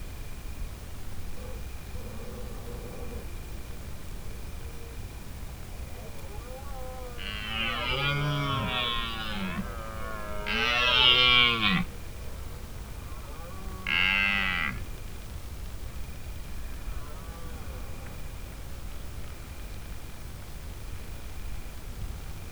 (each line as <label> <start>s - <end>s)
Stag bellowing 5.9s - 15.0s